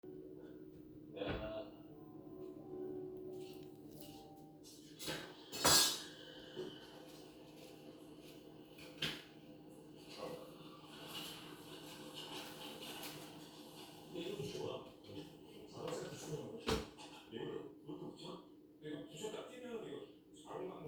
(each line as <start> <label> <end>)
0.0 TV sound 20.8